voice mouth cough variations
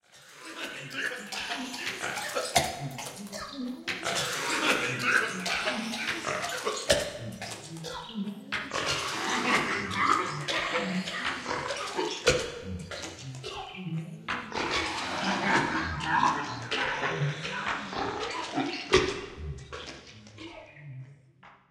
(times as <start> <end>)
0.9 8.0